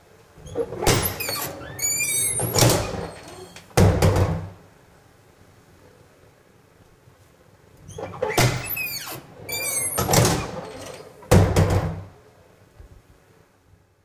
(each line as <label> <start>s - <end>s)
Public washroom push door open and close x2 0.4s - 4.7s
squeaky hinges on door 0.4s - 3.8s
hits door frame hard when closes 2.2s - 4.6s
Public washroom push door open and close x2 7.8s - 12.2s
squeaky hinges on door 7.9s - 11.7s
hits door frame hard when closes 10.0s - 12.1s